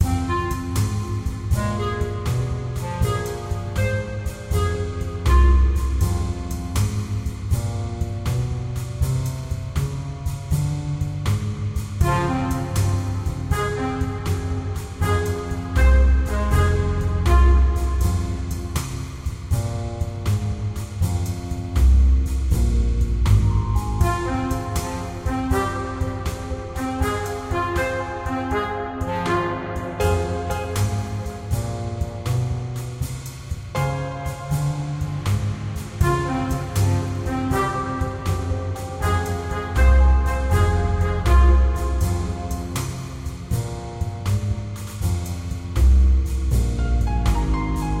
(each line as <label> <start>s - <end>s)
jazz music loop 0.0s - 48.0s